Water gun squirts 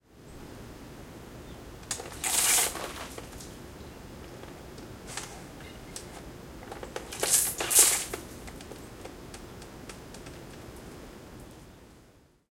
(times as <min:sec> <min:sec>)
0:02.1 0:03.2, 0:07.2 0:08.2